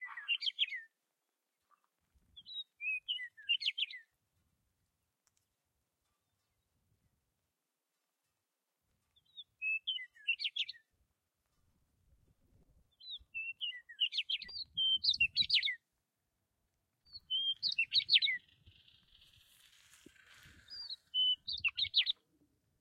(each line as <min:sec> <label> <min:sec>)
0:00.0 Birds chirping 0:00.9
0:02.3 Birds chirping 0:04.1
0:09.1 Birds chirping 0:10.9
0:12.8 Birds chirping 0:15.8
0:17.1 Birds chirping 0:22.2